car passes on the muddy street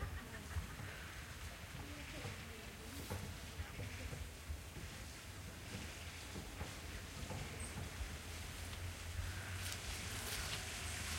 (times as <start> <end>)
5.2 11.1